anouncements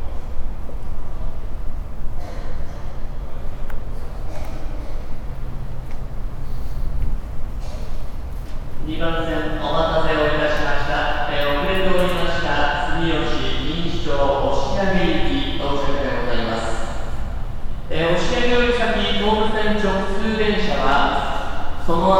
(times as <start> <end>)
8.5 22.1